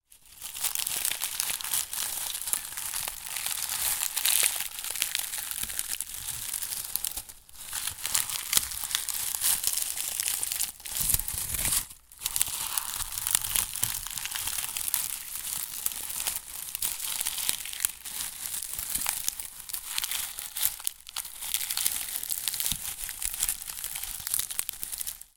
Onion skins crushed with fingers 0:00.6 - 0:25.3

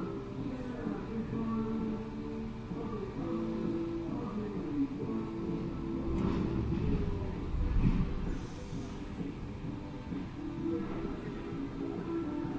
music from the truck parking next to our 0:00.0 - 0:12.5
hiss 0:08.2 - 0:09.3

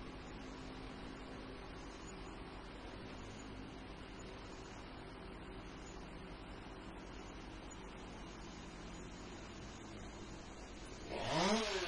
Chain Saw 01 0:11.0 - 0:11.8

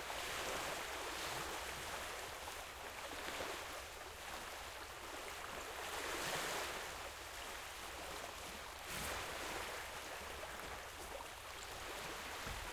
Light Waves Water 0:00.0 - 0:12.7

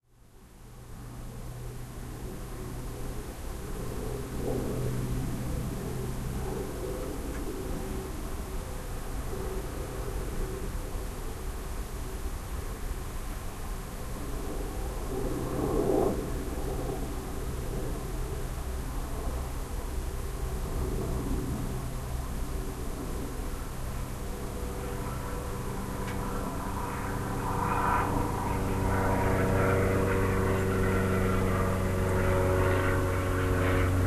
single prop passenger plane takes off 0:01.0 - 0:12.8
single prop passenger plane takes off 0:13.8 - 0:34.0

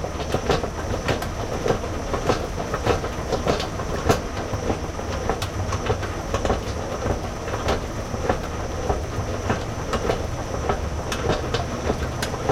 moving floor escalator mechanical 0:00.0 - 0:12.5

